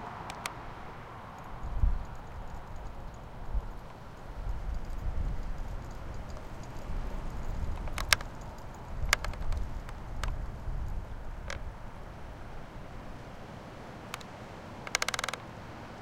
tree creak 0.0 - 12.0
rattling leaves 0.0 - 15.9
tree creak 14.1 - 15.6

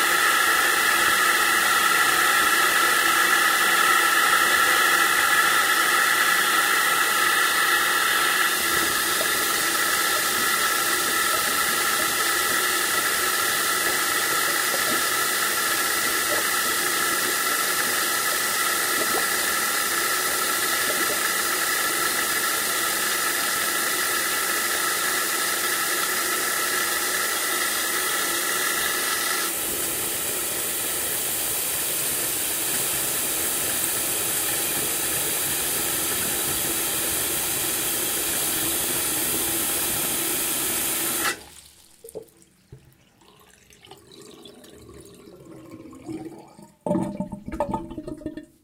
Tap water running with economizer 0.0 - 48.6
tube gurgling when turned off 0.0 - 48.6

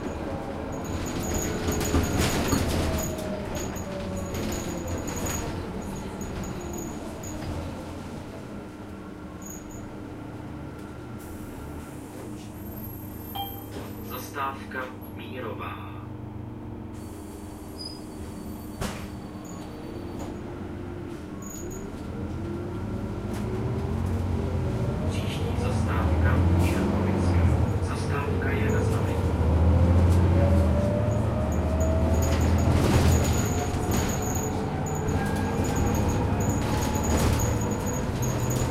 bus stops announcing 0.0 - 38.7
super-hard shaking internal fittings of the bus 0.0 - 7.4
engine 8.6 - 38.7
super-hard shaking internal fittings of the bus 31.6 - 38.7

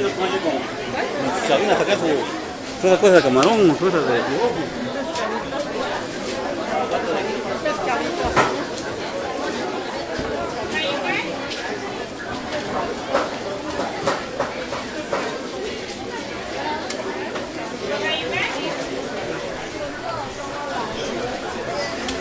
busy spanish voices1 0.0 - 14.2

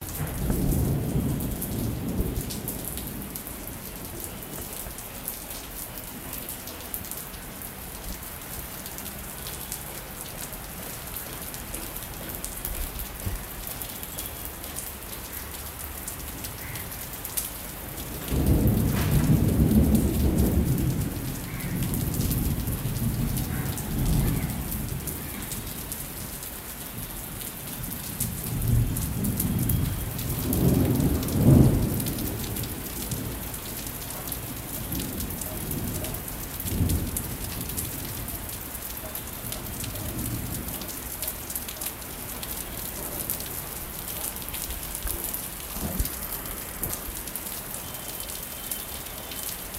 rain 0.0 - 49.7
wind 0.0 - 49.7
rolling thunder 0.0 - 4.1
rolling thunder 18.0 - 26.0
rolling thunder 28.1 - 38.6

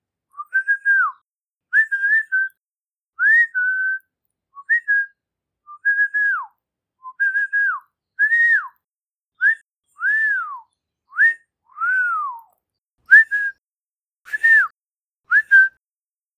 Various whistles 1.8 - 2.6
Various whistles 3.2 - 4.0
Various whistles 7.1 - 8.8
Various whistles 9.4 - 12.5
Various whistles 13.1 - 13.6
wolf whistles 13.1 - 13.6
wolf whistles 14.3 - 14.7
Various whistles 14.3 - 15.8
wolf whistles 15.3 - 15.8

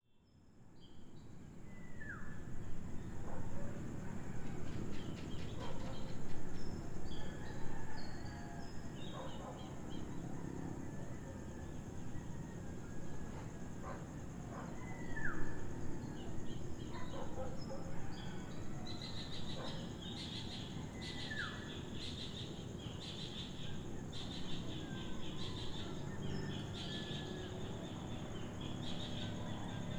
crickets 0.2 - 29.9
cicadas 0.3 - 29.9
dawn chorus from local birds 0.8 - 29.9
dogs barking in the distance 3.1 - 21.8
distant fishermen’s motorboats 21.8 - 29.9
dogs barking in the distance 23.5 - 29.9

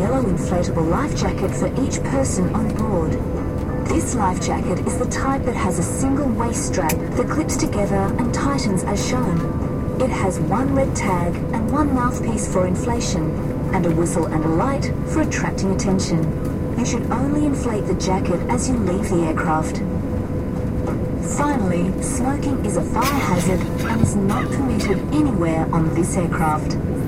Safety announcement 21.3 - 26.7
cabin noise 22.9 - 25.8

